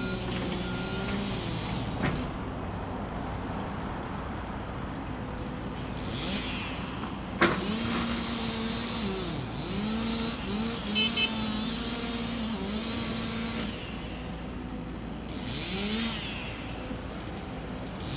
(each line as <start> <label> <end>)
0.0 Workers clearing trees 18.1